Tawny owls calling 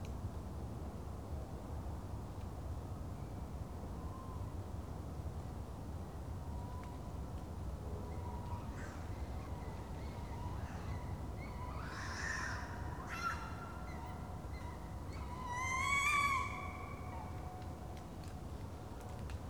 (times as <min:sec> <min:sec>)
0:09.8 0:17.4